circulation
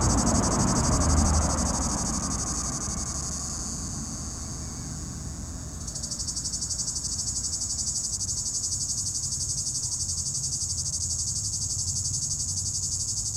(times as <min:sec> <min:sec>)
0:00.0 0:07.5